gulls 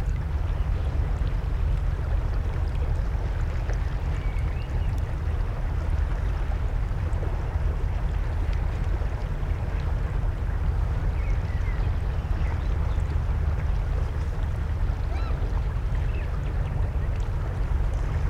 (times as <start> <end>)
15.0 15.4